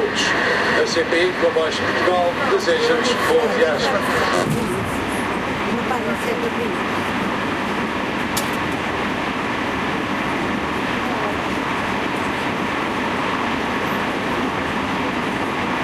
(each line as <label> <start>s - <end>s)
train trip 0.0s - 15.8s